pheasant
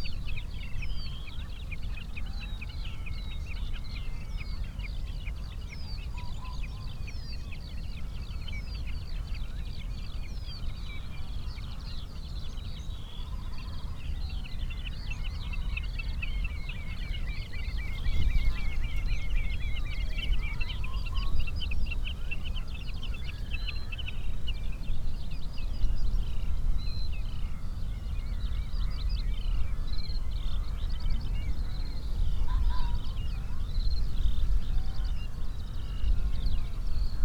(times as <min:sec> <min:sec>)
0:11.0 0:24.6, 0:25.8 0:37.2